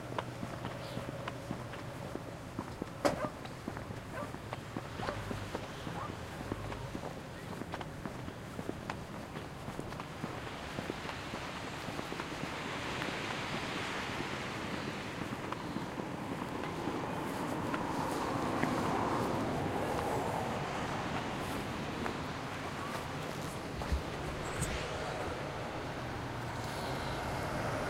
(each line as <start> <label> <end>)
0.0 foot steps 12.3
0.0 water 27.8
3.0 people are loading/unloading dogs 3.5
20.8 foot steps 26.7